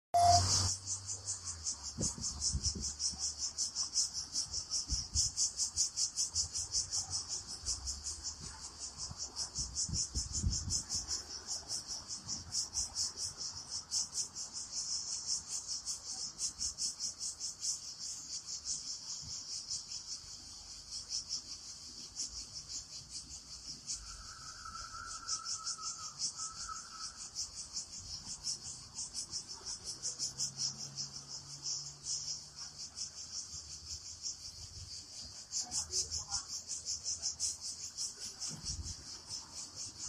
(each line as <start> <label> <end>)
0.2 Cicadas summer song on pines 40.0